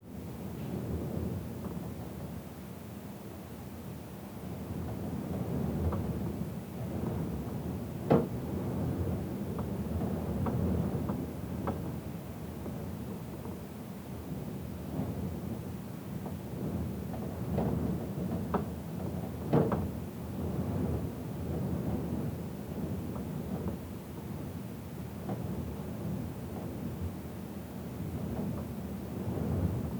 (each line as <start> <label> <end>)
0.0 wind outside 29.9